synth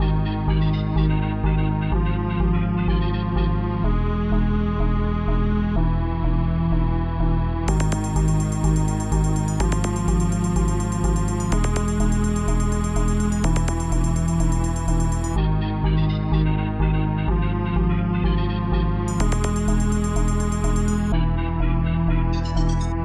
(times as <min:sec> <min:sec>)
0:07.7 0:15.4, 0:19.1 0:21.2